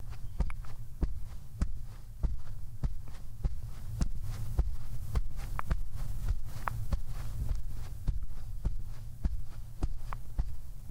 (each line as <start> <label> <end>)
0.0 walking on a grass surface 10.9